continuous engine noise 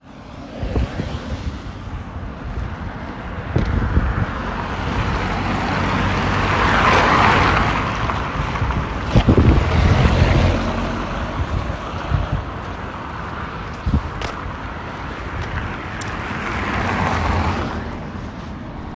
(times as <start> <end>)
8.0 16.3